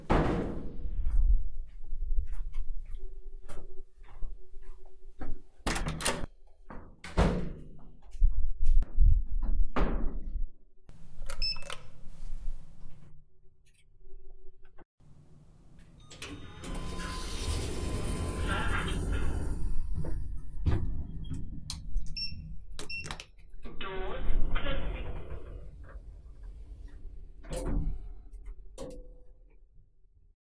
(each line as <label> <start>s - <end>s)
lift 16.0s - 22.4s